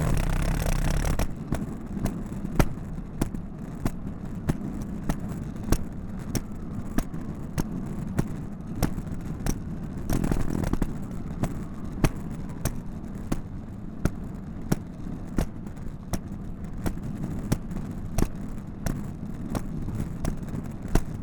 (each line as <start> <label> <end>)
0.0 Luggage Bag Drag 1.4